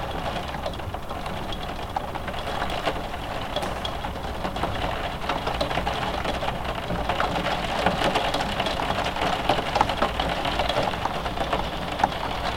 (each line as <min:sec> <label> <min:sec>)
0:00.0 Rain drops on a glass roof window 0:12.5